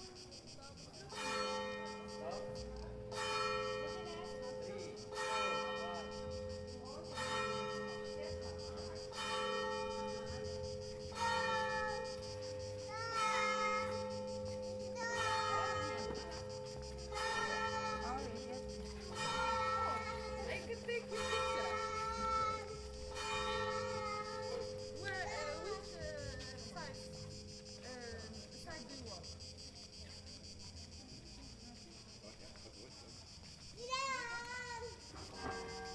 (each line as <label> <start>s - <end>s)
Voices of tourists passing by 0.0s - 35.9s
Church bells 1.1s - 27.9s
Church bells 35.1s - 35.9s